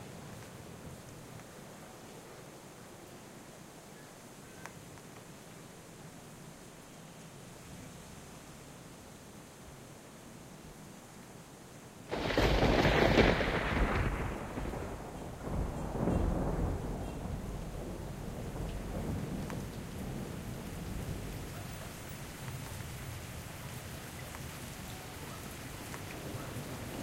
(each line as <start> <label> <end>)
0.0 rain 27.0
12.1 thunder 22.8